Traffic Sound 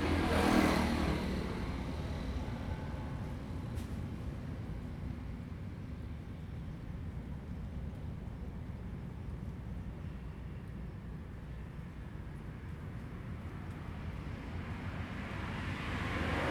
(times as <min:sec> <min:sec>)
0:00.0 0:04.1